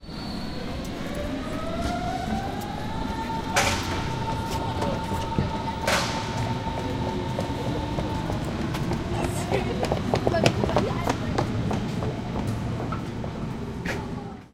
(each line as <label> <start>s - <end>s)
train 0.0s - 14.5s
Two people running for a train 0.0s - 14.5s